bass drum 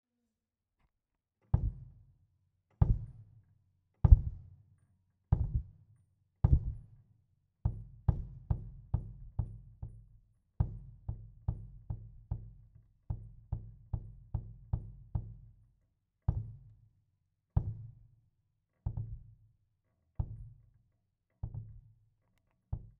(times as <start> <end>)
1.6 2.0, 2.8 3.2, 4.1 4.5, 5.3 5.8, 6.4 6.9, 7.7 15.5, 18.9 19.3